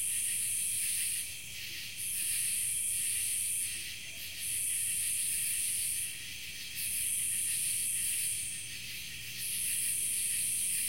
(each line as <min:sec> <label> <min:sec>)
0:00.0 cicada 0:10.8